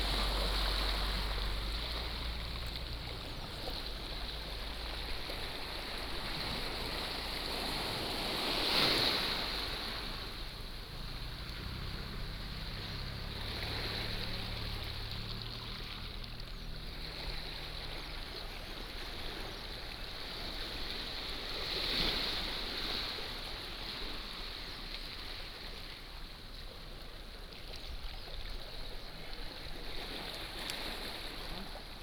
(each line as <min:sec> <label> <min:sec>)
0:00.0 waves 0:32.0